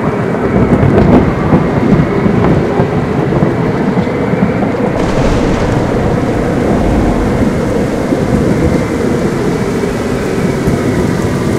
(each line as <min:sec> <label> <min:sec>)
0:00.0 rain 0:11.5
0:04.8 thunder 0:11.5